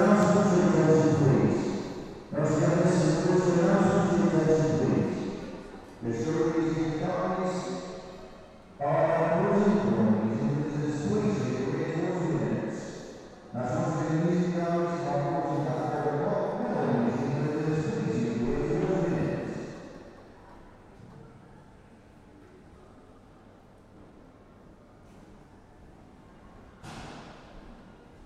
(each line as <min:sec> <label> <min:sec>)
0:00.0 tannoy announcement for building closing to public 0:08.0
0:00.0 museum staff and public 0:28.2
0:08.8 tannoy announcement for building closing to public 0:19.8